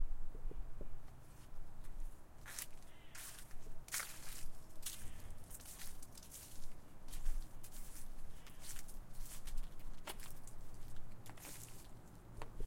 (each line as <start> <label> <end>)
2.4 leaves crunching 12.1